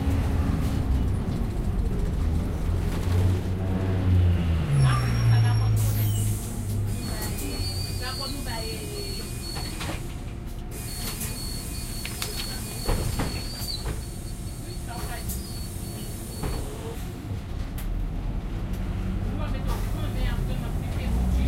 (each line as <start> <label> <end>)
9.2 doors opening and shutting 14.3